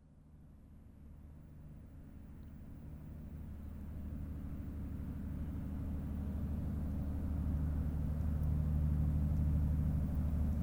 0.0s boat is passing by on the Seine river 10.6s

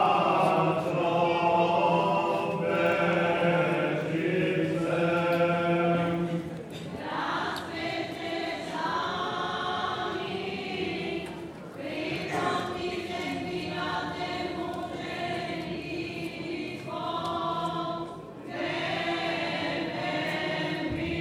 0.0s very old Slavic song sung by the local choir 21.2s

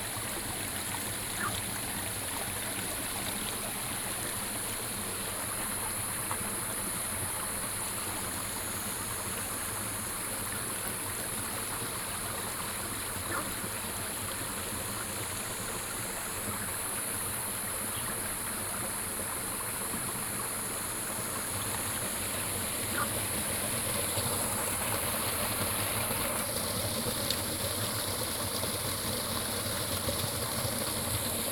0.0s Stream 31.5s
1.3s Frog calls 1.7s
13.2s Frog calls 13.6s
22.8s Frog calls 23.7s

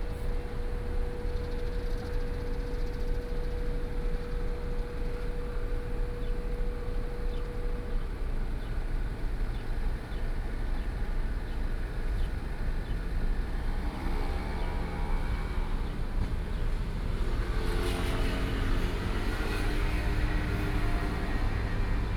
12.9s Traffic Sound 22.1s

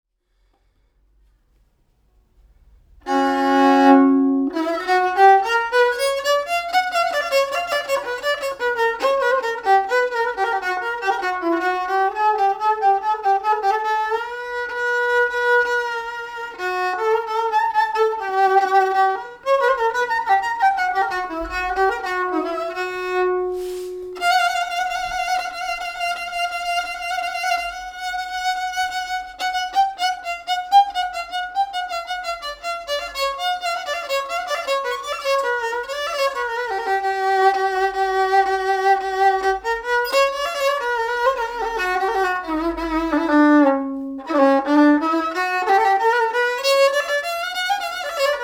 2.9s violino 48.4s

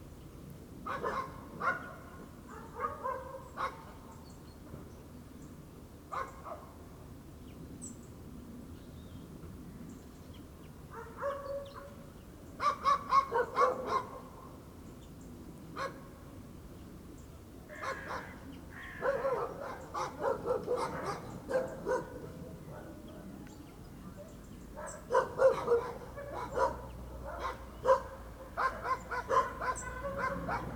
0.9s dogs barking 3.9s
6.1s dogs barking 6.7s
10.9s dogs barking 12.0s
12.6s dogs barking 14.3s
17.7s dogs barking 18.4s
19.0s dogs barking 23.2s
24.8s dogs barking 30.7s

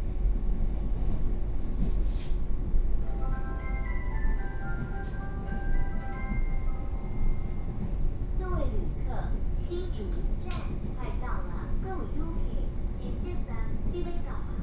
0.0s Local Train 14.6s

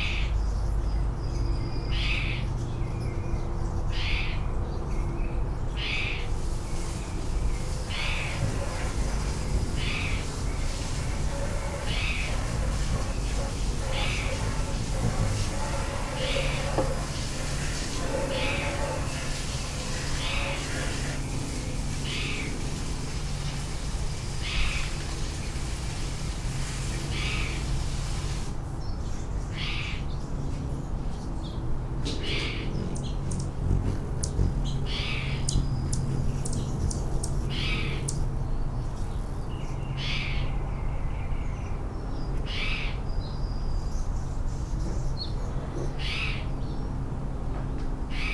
0.0s hummingbirds 22.6s
30.0s helicopters 38.4s
32.2s hummingbirds 40.2s

